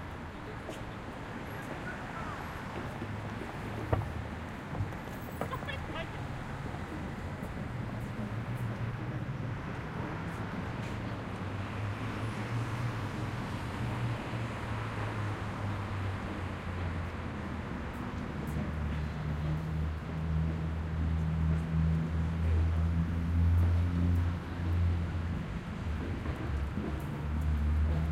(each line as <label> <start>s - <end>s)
Walking North 0.0s - 28.1s
traffic 0.0s - 28.1s